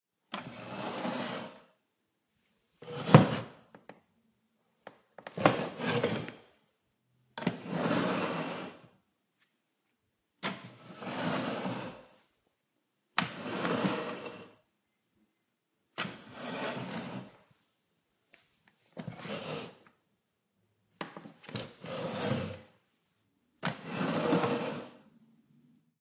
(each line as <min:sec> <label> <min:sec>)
0:05.3 Wooden chair, push in, pull out 0:06.4